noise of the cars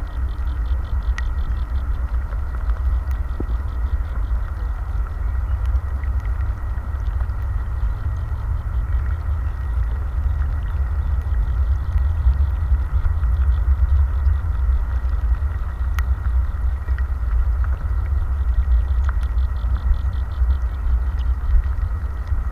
0:04.0 0:18.8

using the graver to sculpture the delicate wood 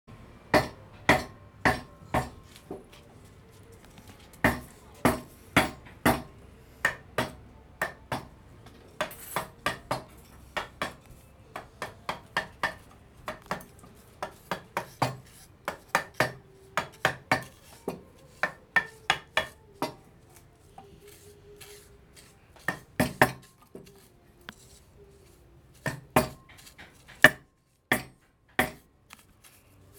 0:08.1 0:27.4

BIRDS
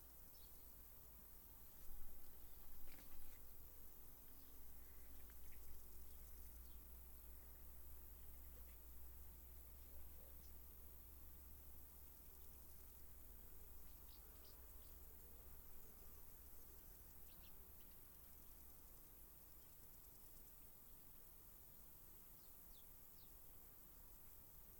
0:01.6 0:10.8, 0:12.1 0:21.2

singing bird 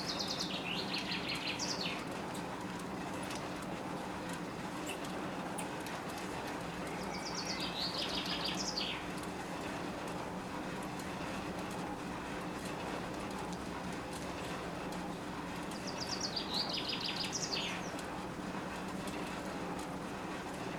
0:00.0 0:02.0, 0:06.8 0:09.0, 0:15.8 0:18.0

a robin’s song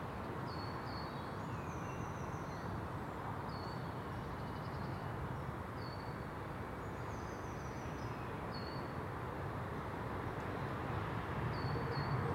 0:00.4 0:02.7

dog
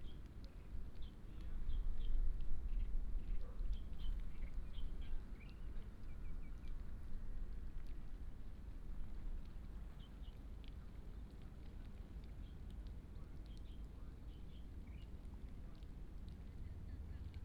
0:03.3 0:03.8

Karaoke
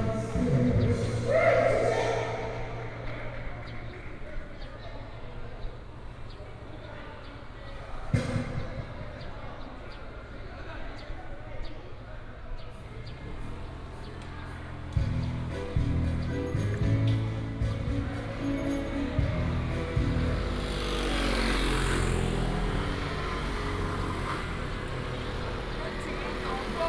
0:00.0 0:03.4

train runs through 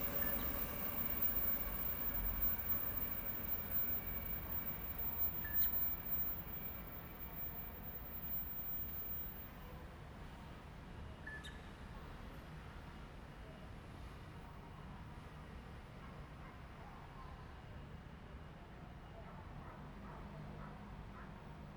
0:00.0 0:09.7

